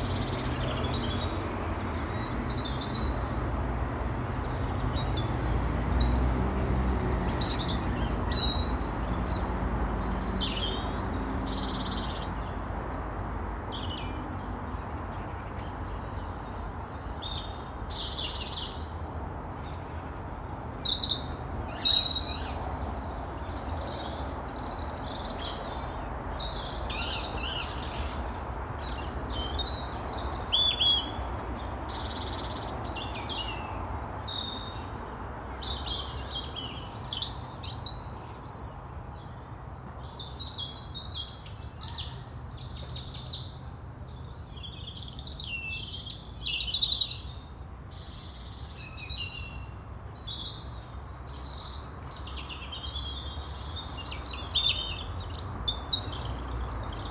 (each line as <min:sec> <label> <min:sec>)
0:00.0 traffic in the background 0:57.1